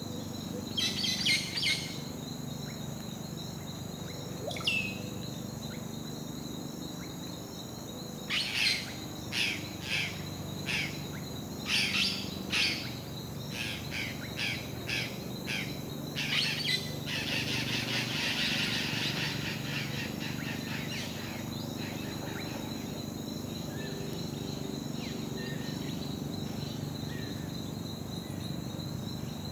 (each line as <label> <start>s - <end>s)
Birds singing 0.6s - 2.8s
Birds singing 3.6s - 7.3s
Birds singing 8.1s - 29.5s